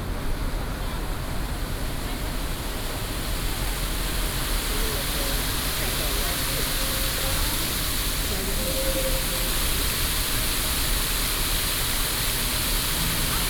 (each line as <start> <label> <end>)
0.0 Fountain 13.4
0.0 Traffic Sound 13.4